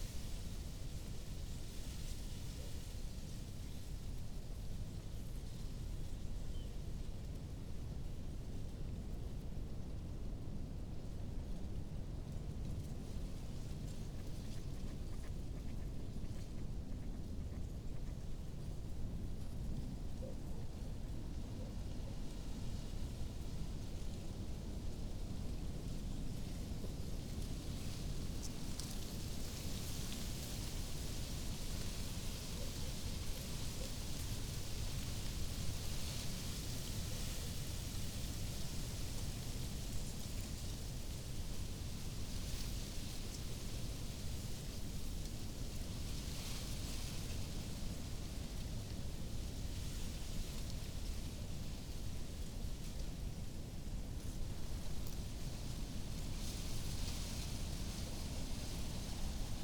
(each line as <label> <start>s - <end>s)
reed rustling in the wind 9.6s - 59.6s